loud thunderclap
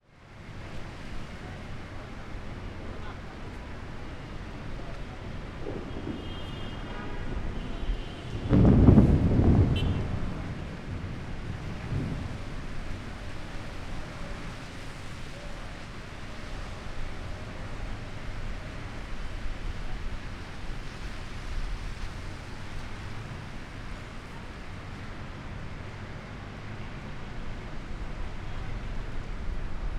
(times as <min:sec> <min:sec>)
0:05.4 0:13.4